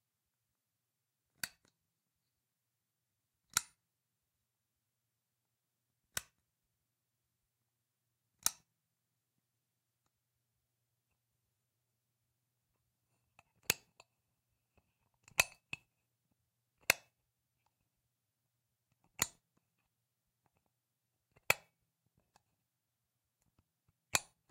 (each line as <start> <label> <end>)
3.5 Worklight Switch 3.8
6.2 Worklight Switch 6.4
8.4 Worklight Switch 8.7